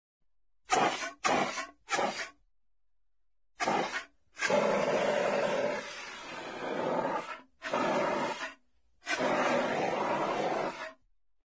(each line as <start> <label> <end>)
3.6 fire extinguisher quenches fire 10.9
3.6 fire 11.0